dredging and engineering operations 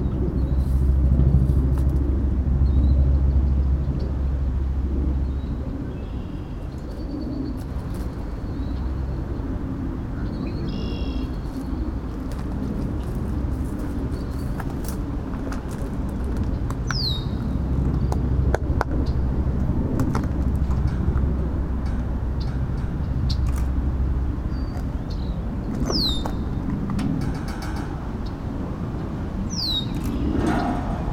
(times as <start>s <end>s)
6.5s 31.1s